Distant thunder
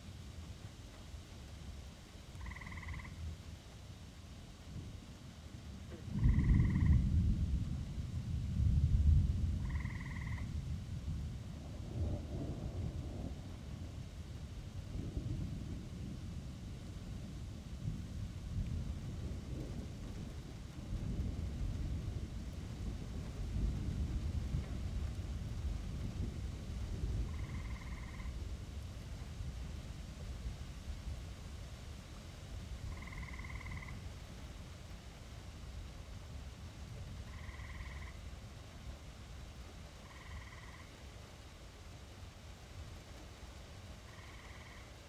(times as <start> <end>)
5.8 29.0